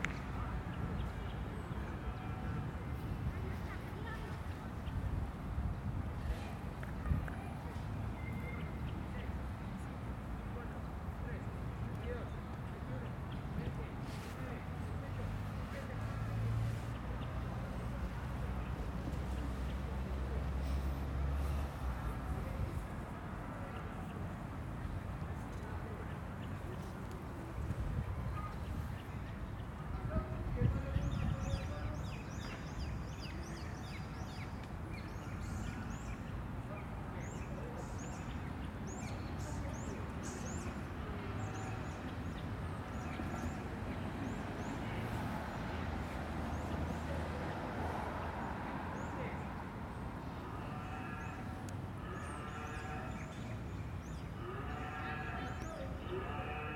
little traffic 0.0 - 56.7
people pass by selling their products 0.0 - 56.7
birds singing 49.0 - 56.7

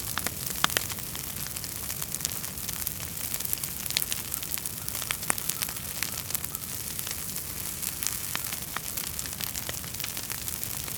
Huge bonfire of wood scraps and brush burning aggressively 0.0 - 10.9
wind 0.0 - 10.9
crows 4.2 - 7.2

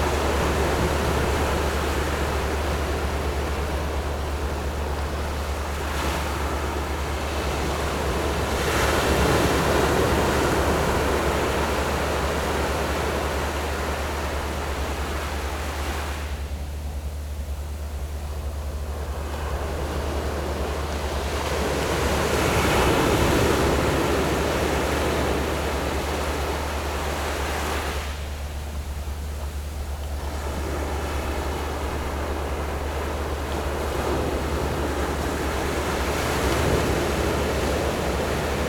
waves 0.0 - 38.6

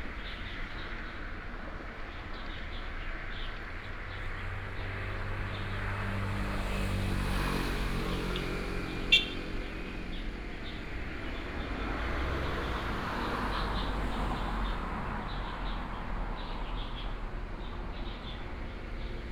traffic sound 0.0 - 19.3

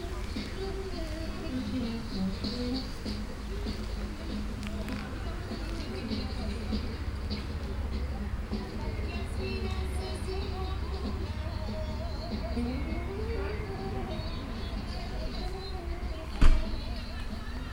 birds 0.0 - 17.7
kids 0.0 - 17.7
music 0.0 - 17.7
short walk in a small patch of woods 0.0 - 7.8

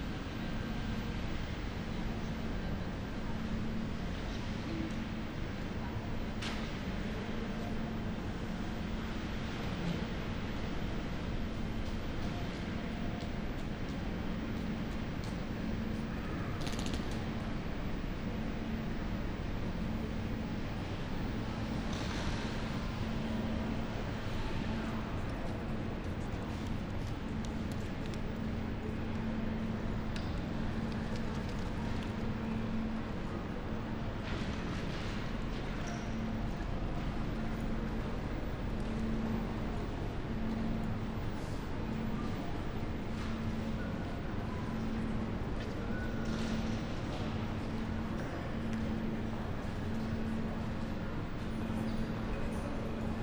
walking around Graz main station 0.0 - 53.2

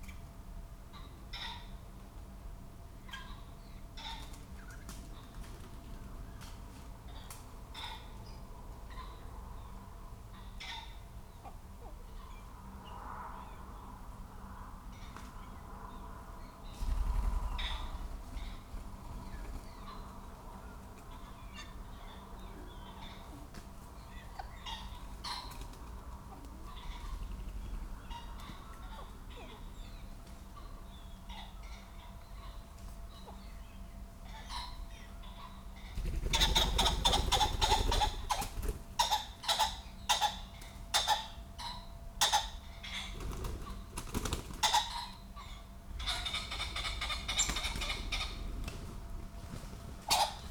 background noise 0.0 - 50.5
blackbird 16.4 - 48.6
Pheasants coming to roost 16.7 - 33.4
whirrings and rattling of wings 16.7 - 20.2
whirrings and rattling of wings 25.5 - 28.1
Pheasants coming to roost 34.2 - 50.5
whirrings and rattling of wings 35.9 - 39.0
whirrings and rattling of wings 43.1 - 45.0
whirrings and rattling of wings 46.1 - 50.5

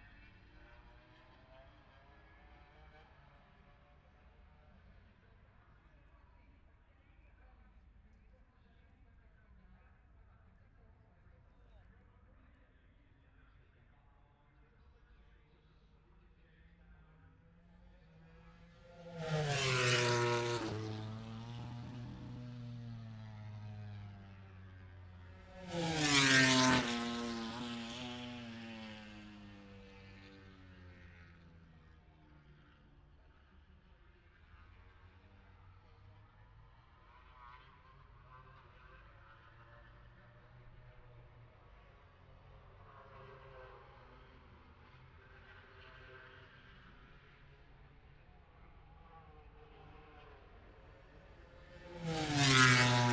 moto grand prix qualifying 13.5 - 53.1

